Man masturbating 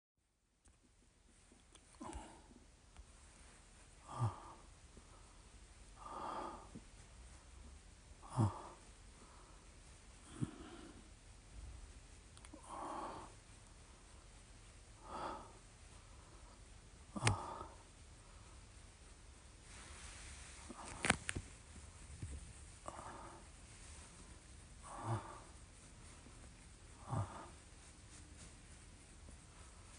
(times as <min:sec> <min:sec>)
0:08.2 0:08.8